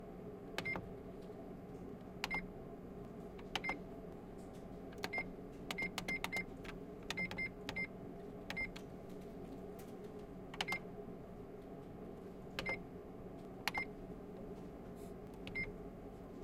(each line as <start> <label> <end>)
0.0 Loud background noise is ventilation 16.4
5.1 fax-printer beeps 6.5
7.1 fax-printer beeps 7.9
8.5 fax-printer beeps 8.8
12.6 fax-printer beeps 12.8
15.5 fax-printer beeps 15.7